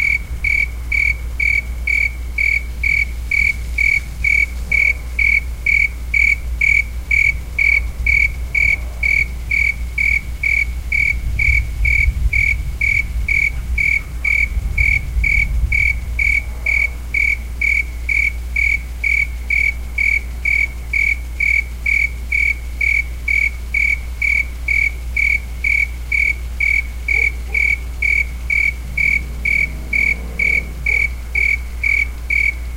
car 0:00.0 - 0:32.7
cricket 0:00.0 - 0:32.7
dog barking 0:27.1 - 0:27.8
dog barking 0:30.8 - 0:31.2

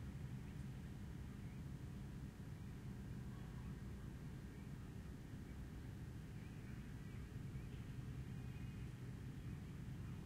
air conditioning 0:00.0 - 0:10.2
boats passing by 0:00.0 - 0:10.2
rush of the laguna in the distance 0:00.0 - 0:10.2

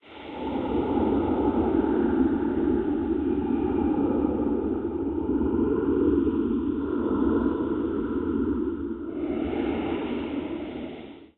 Ghost low-pitched sound 0:00.0 - 0:11.3

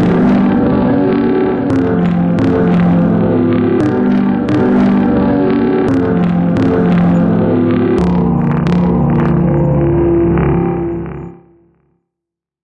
sampler, with a delay playing standards 0:00.0 - 0:11.6

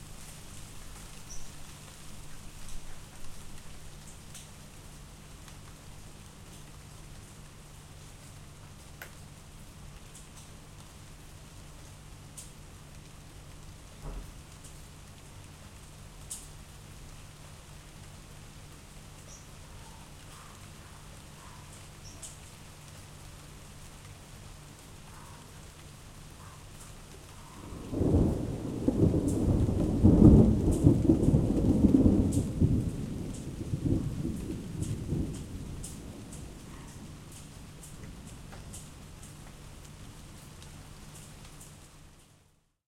rain 0:00.0 - 0:42.8
thunder 0:27.6 - 0:37.2

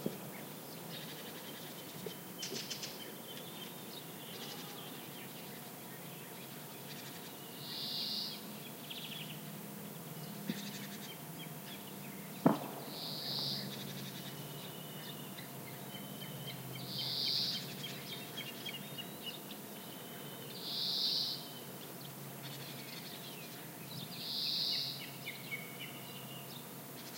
general buzzing in background 0:00.0 - 0:27.1
wind on trees 0:00.0 - 0:27.1
distant gunshots 0:12.4 - 0:13.6

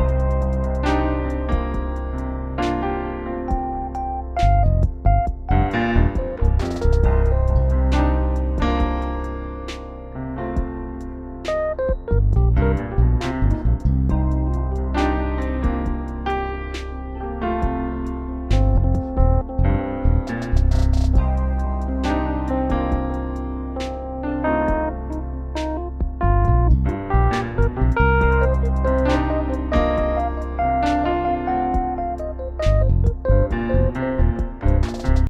trap drums 0:00.0 - 0:02.2
trap drums 0:03.5 - 0:09.3
trap drums 0:10.6 - 0:16.2
notes of blues 0:10.6 - 0:17.9
trap drums 0:20.3 - 0:23.2
notes of blues 0:21.2 - 0:35.0
trap drums 0:27.3 - 0:35.2

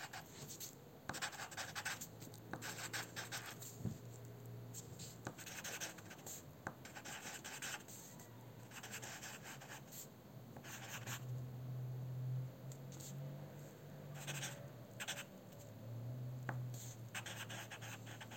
pencil writing 0:00.0 - 0:03.7
pencil writing 0:05.0 - 0:08.1
pencil writing 0:08.7 - 0:11.2
pencil writing 0:14.2 - 0:15.3
pencil writing 0:16.7 - 0:18.3

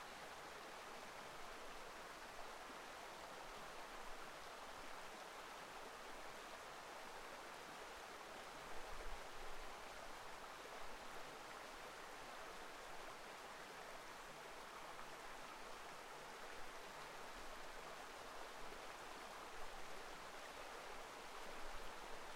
river 0:00.0 - 0:22.3

